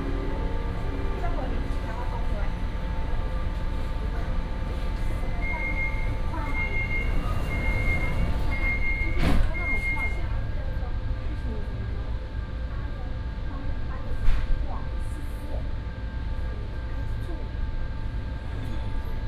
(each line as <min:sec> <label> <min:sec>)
0:00.0 Take the MRT 0:17.6
0:00.0 In-car message broadcasting 0:07.2